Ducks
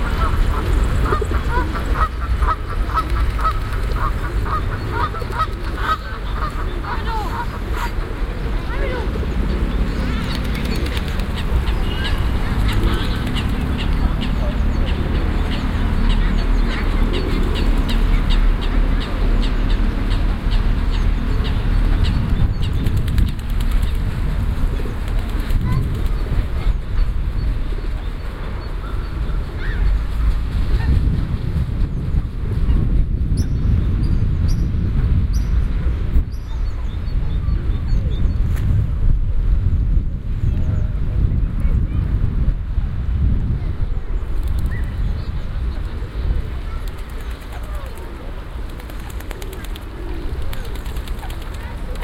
0.0s 8.0s

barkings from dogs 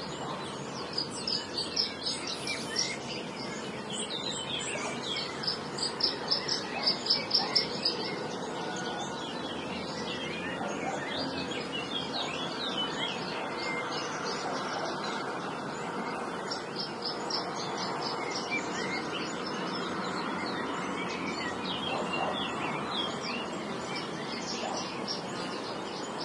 6.7s 7.8s, 21.9s 22.6s

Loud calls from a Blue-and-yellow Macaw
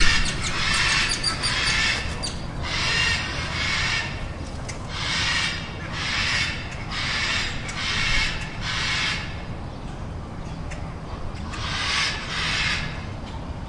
0.0s 4.3s, 4.9s 9.5s, 11.5s 13.0s

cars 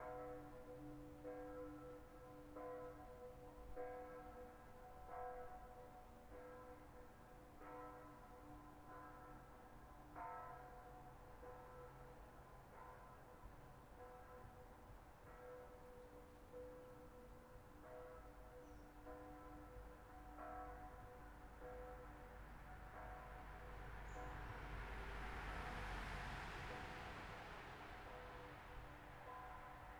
22.4s 29.2s

